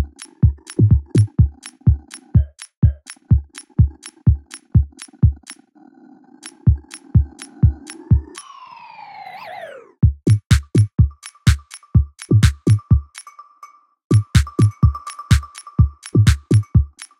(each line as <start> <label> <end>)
0.0 Drums 1.5
10.0 Drums 11.6
12.3 Drums 12.8
14.1 Drums 15.5
16.2 Drums 16.9